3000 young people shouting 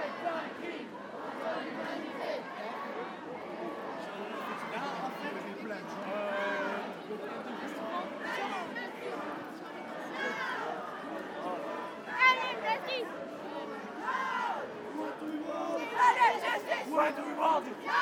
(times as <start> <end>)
10.0 18.0